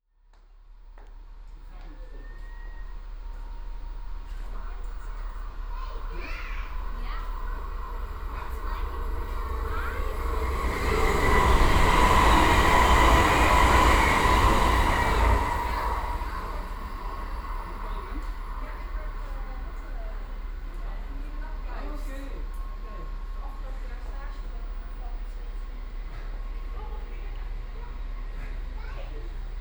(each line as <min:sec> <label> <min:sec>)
0:00.9 fast rapid train coming along 0:29.6